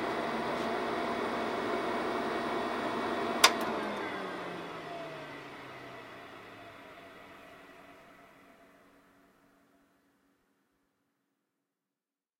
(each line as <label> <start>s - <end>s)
Fairlight Computer Musical Instrument powering on, running and then powering off 0.0s - 9.9s
fan 0.0s - 10.0s